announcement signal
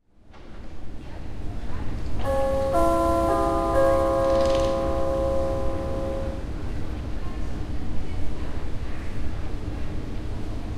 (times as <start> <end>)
2.2 6.5